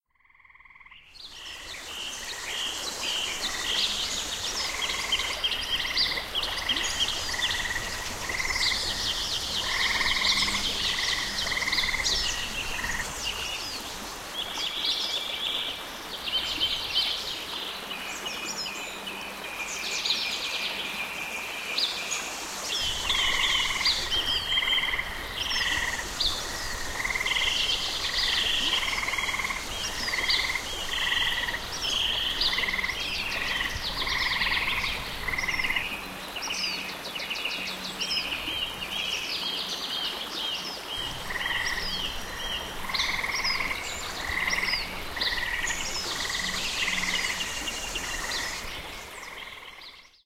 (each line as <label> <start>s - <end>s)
birds 22.8s - 50.2s